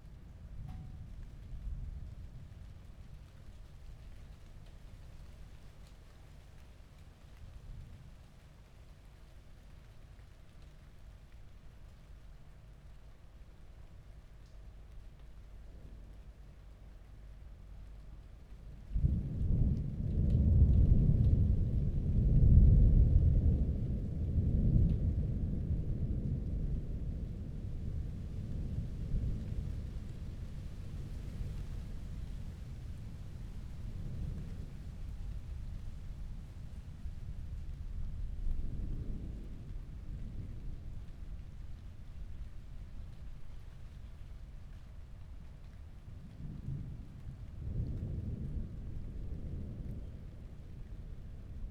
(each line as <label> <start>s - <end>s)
summer storm 15.4s - 51.7s